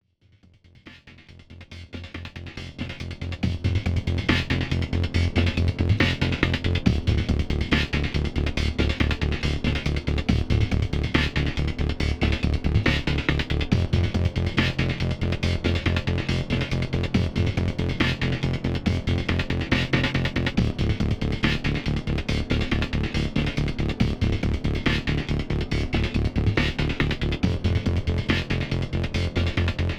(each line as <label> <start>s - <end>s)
Pulsing bass 1.4s - 29.9s
heavily chopped and distorted drum breakbeat 1.9s - 29.9s